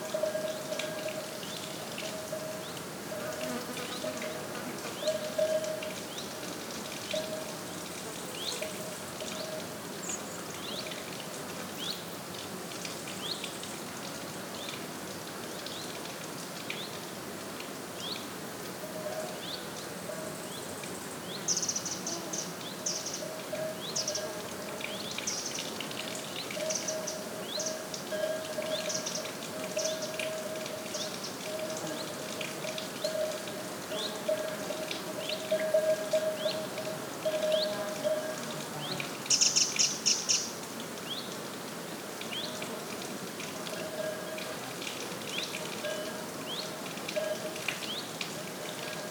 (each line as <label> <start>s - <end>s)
muchos insectos 20.4s - 40.5s